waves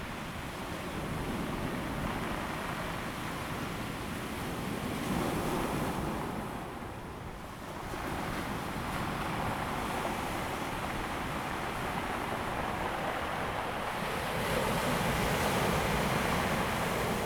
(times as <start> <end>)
7.8 17.2